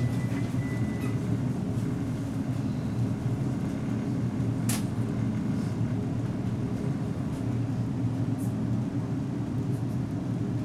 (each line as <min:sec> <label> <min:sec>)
0:00.0 Tram 0:10.6